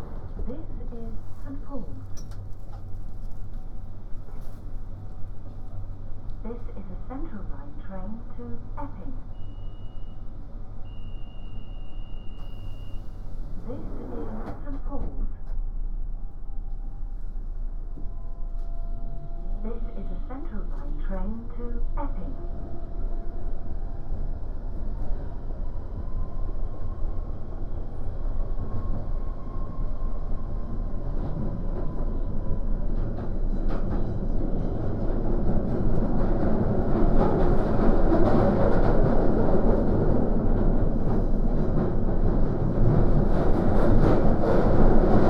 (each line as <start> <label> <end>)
6.4 announcement 9.2
19.5 announcement 22.4